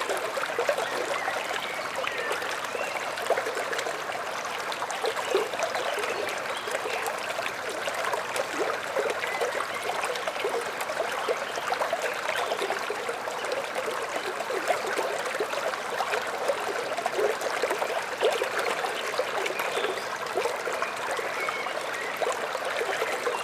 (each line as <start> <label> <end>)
0.0 small streamlet 23.4